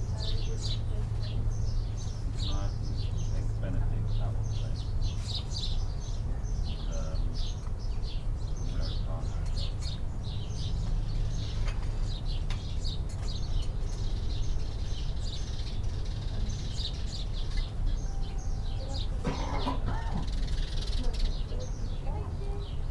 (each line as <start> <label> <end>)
0.0 Sparrows 22.9
0.0 low background drone of traffic 22.9
18.0 Spanish music 20.1